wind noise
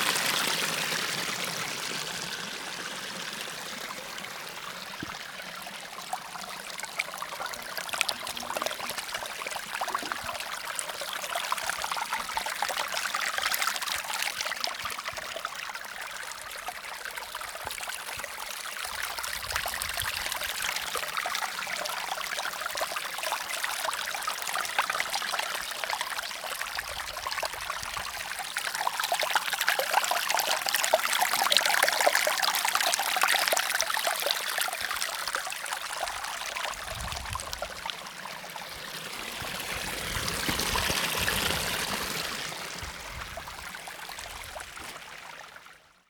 0:36.7 0:37.8, 0:39.3 0:44.6

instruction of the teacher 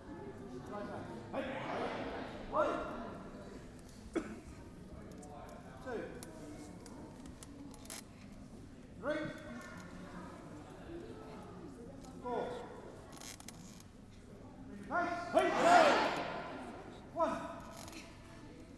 0:14.9 0:17.5

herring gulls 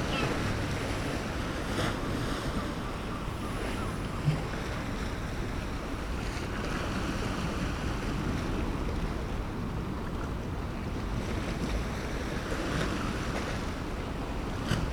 0:00.0 0:01.2

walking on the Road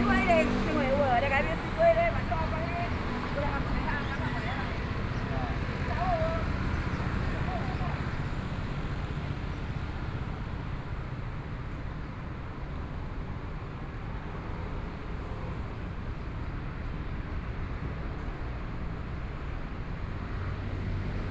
0:00.0 0:10.0

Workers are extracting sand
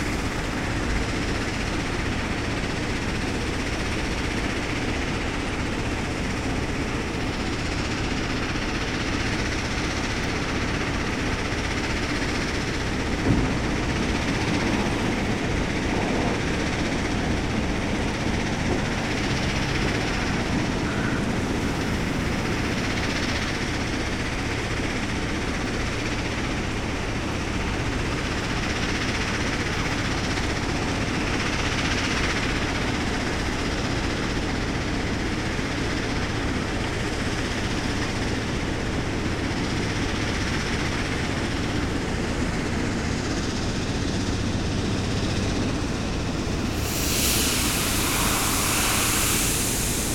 0:46.6 0:50.1

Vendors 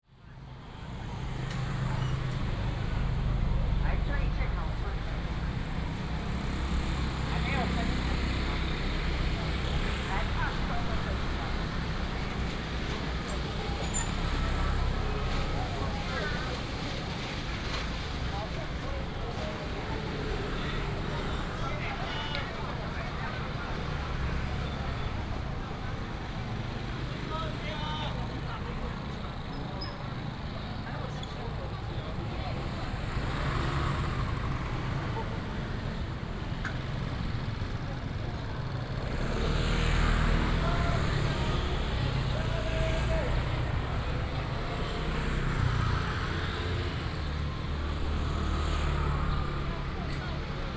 0:30.5 0:50.7

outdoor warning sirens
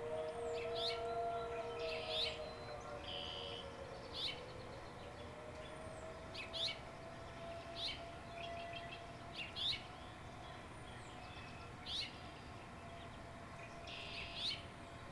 0:00.0 0:10.1

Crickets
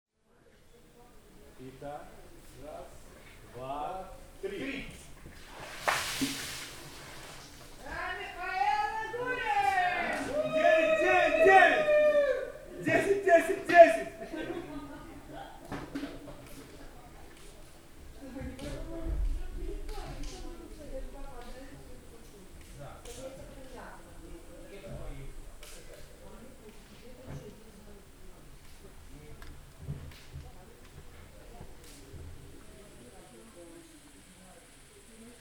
0:30.3 0:35.4

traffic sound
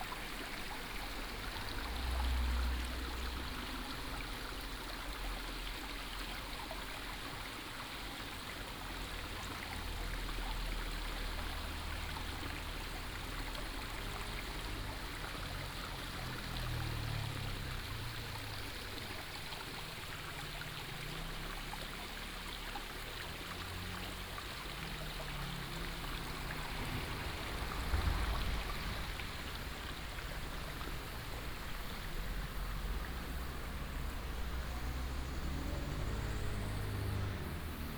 0:13.3 0:37.9

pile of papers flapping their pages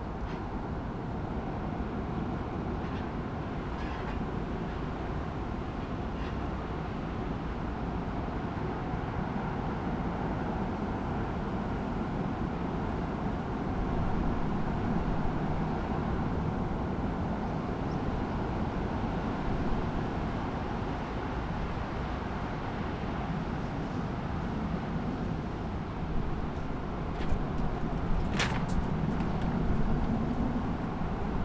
0:26.3 0:31.4

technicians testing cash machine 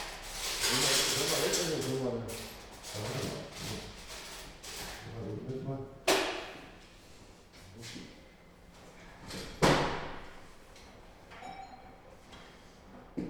0:00.0 0:05.6

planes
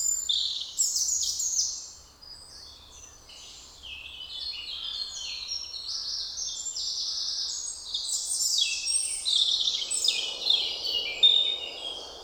0:09.6 0:12.2

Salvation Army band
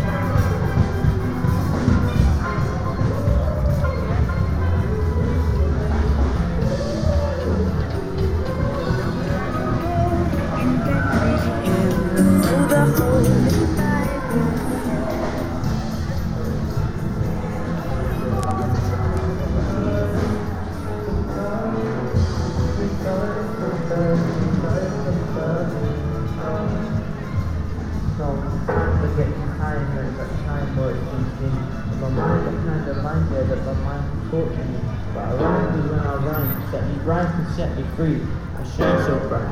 0:00.0 0:29.6

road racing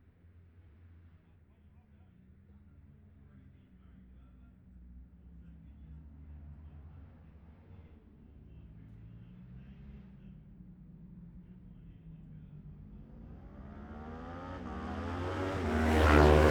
0:08.2 0:16.5

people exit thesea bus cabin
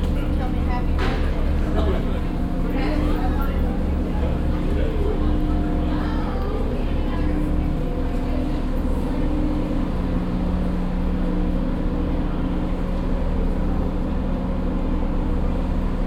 0:00.0 0:07.4

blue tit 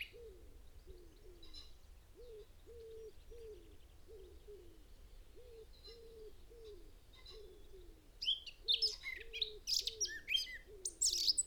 0:08.2 0:11.4

